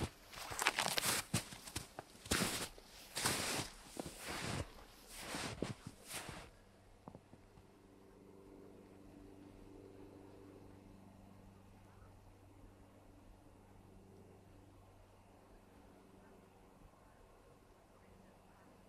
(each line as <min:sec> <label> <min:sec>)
0:00.0 WALKING ON THE SNOW 0:07.2